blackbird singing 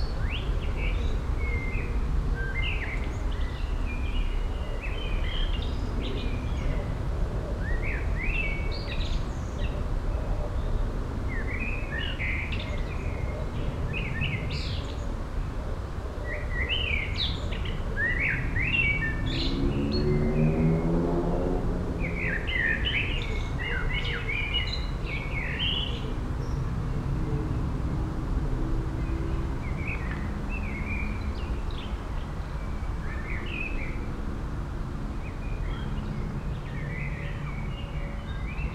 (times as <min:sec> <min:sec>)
0:16.2 0:21.0, 0:22.0 0:26.6